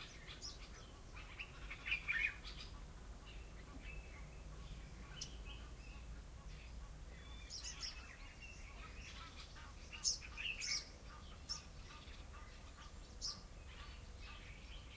birdsong 0.0 - 14.9

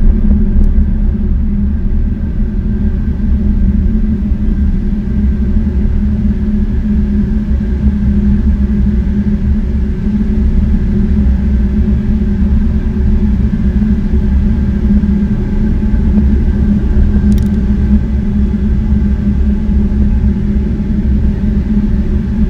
Central heating boiler switching on and working 0.0 - 22.4

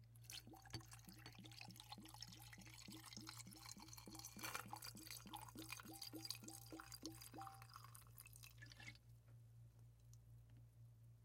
Continuous pour of liquid into glass container 0.0 - 9.0
glugs of liquid pouring out of bottle 0.3 - 9.0
liquid and ice hitting sides of container 4.2 - 5.2

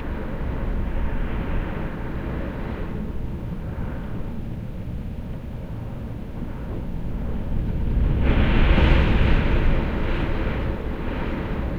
strong wind blowing on my window 0.0 - 11.7

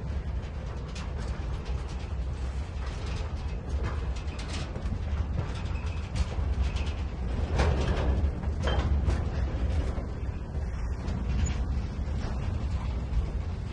train passes slowly and brakes 0.0 - 13.7

